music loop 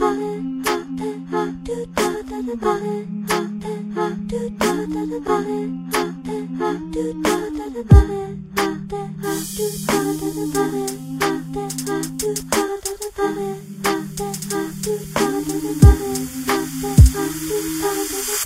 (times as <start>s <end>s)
7.3s 18.4s